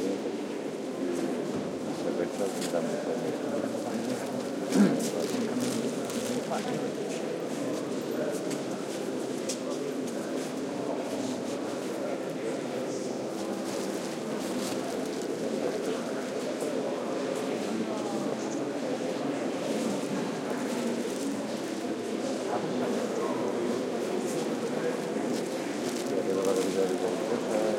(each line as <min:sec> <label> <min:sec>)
0:00.0 talk 0:27.7
0:04.4 murmurs 0:06.7